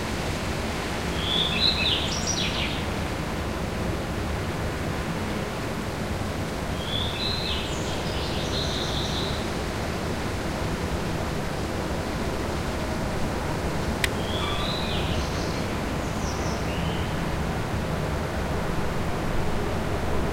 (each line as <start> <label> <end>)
1.1 birdsong 2.9
6.7 birdsong 9.5
14.0 birdsong 17.2